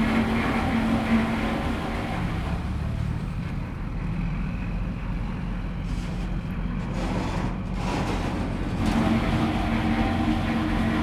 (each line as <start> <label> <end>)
0.0 Ice delivery to large fishing vessels 3.4